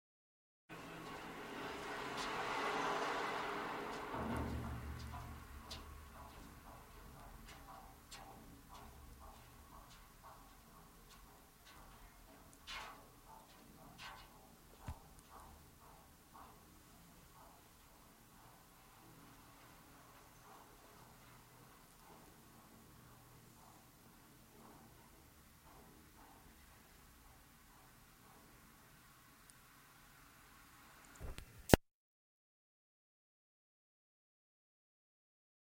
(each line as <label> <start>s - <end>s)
Traffic 0.7s - 8.1s